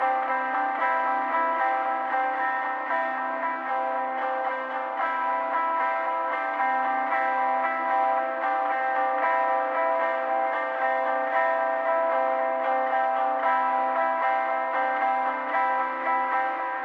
0.0s Indie Pop Guitar Loop Delay 16.8s

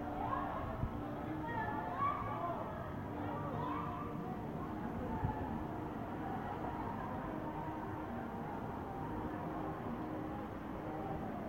0.0s distant karaoke bar 11.4s

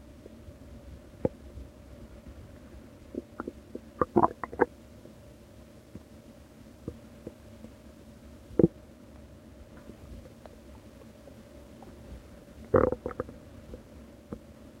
0.0s Quiet bubbling and groaning on an empty stomach 14.8s

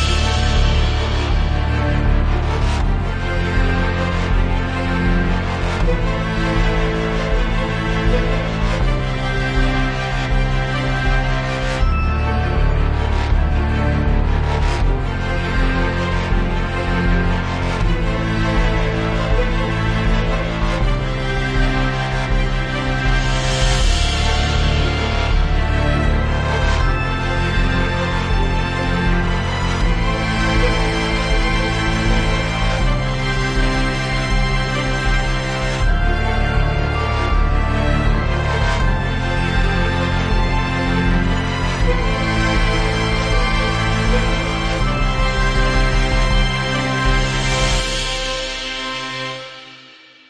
0.0s Orchestra 50.2s

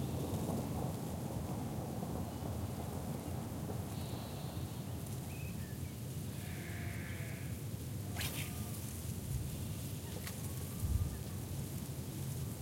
0.0s rain falling on my ZOOM 5.3s
0.0s rain 6.3s
0.0s nature 12.6s
8.2s fishing 8.8s
8.6s rain falling on my ZOOM 12.6s
9.1s rain 12.6s

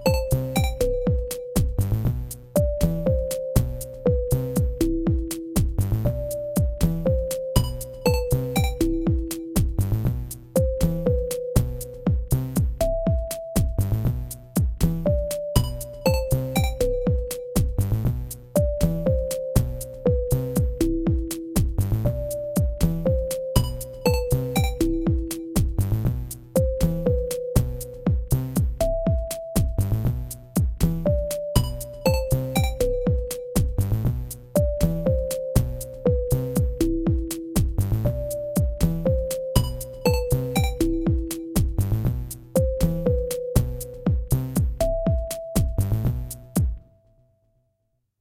34.6s synth 41.8s

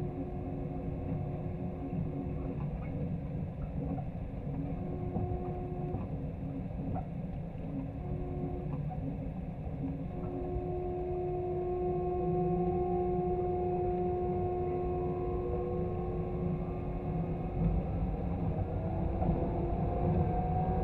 0.0s metro 20.8s

